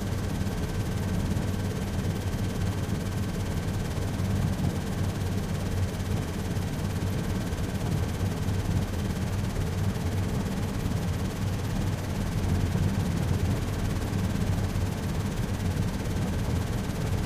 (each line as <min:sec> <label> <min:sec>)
0:00.0 Helicopter engine 0:17.2